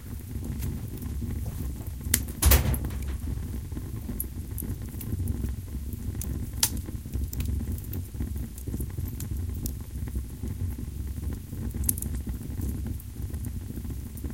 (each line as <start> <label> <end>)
1.5 door 3.5